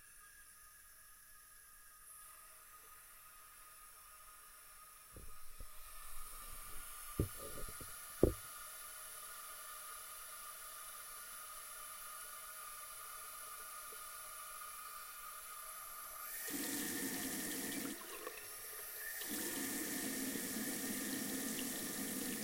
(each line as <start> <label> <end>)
5.2 Tap water 8.5